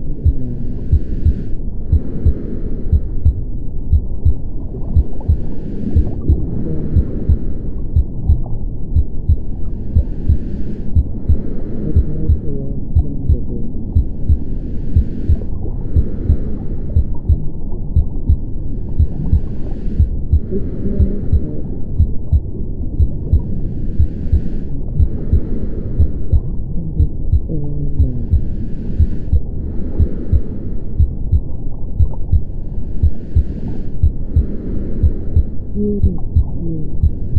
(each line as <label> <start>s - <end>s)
muffled sound of a female voice reading a story 0.0s - 1.4s
heart beat at 60 bpm 0.0s - 37.3s
recording of my breathing 0.0s - 37.3s
underwater sounds 0.0s - 37.3s
muffled sound of a female voice reading a story 6.2s - 7.6s
muffled sound of a female voice reading a story 11.8s - 13.9s
muffled sound of a female voice reading a story 20.4s - 21.9s
muffled sound of a female voice reading a story 26.5s - 28.8s
muffled sound of a female voice reading a story 35.8s - 37.3s